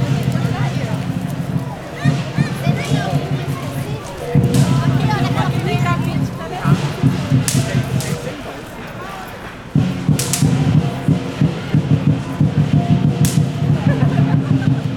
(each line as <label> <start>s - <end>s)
Chinese drums 0.0s - 14.9s
snaps fireworks 4.0s - 8.8s
snaps fireworks 9.7s - 13.9s